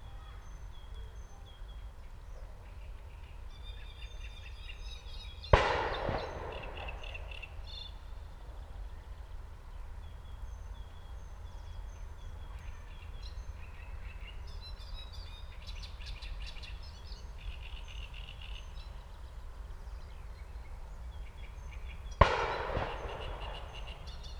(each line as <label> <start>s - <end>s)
shots from the nearby shooting range 5.5s - 8.2s
shots from the nearby shooting range 22.2s - 24.3s
echos 22.2s - 24.3s